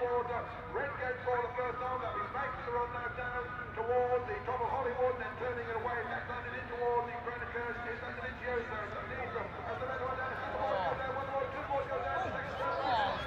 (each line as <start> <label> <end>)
0.0 Motorcycle Grand Prix 2004 ... 125 race 13.2